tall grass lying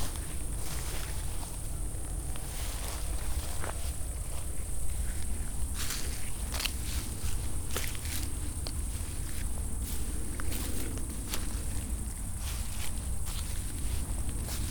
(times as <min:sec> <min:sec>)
0:05.1 0:14.7